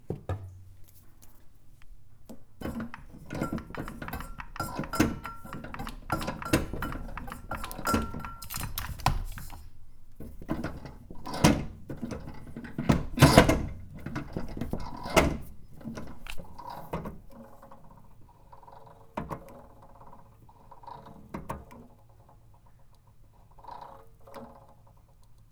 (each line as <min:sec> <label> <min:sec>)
0:02.6 tools 0:09.7